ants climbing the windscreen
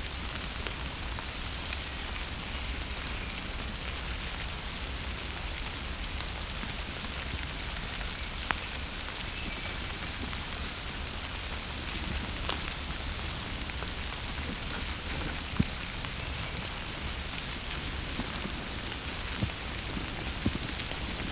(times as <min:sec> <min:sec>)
0:11.8 0:21.3